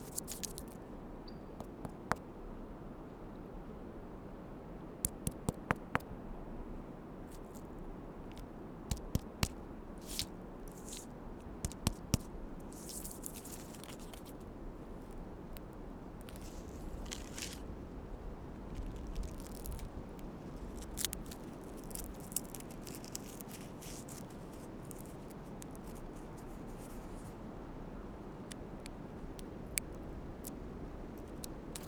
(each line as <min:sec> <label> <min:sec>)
0:00.0 Scraping bark off a tree 0:00.8
0:00.0 Very windy day 0:31.8
0:08.3 Scraping bark off a tree 0:27.5